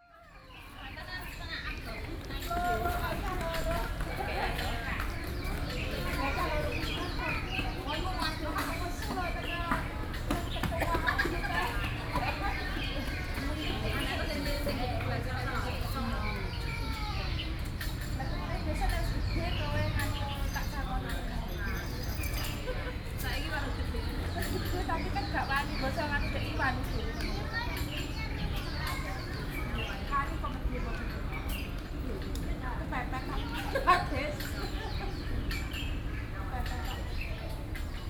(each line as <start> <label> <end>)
0.0 People from different countries chatting 38.0